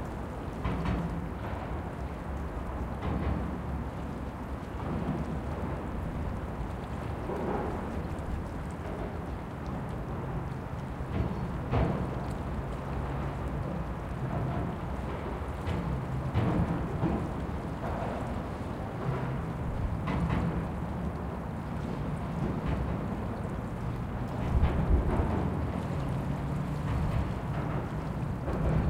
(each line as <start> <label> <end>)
0.0 Water steam 28.8